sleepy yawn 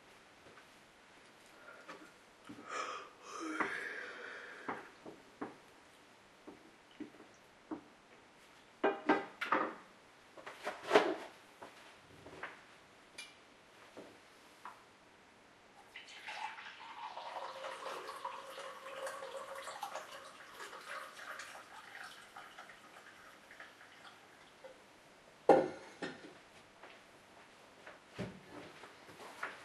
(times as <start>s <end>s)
2.6s 4.7s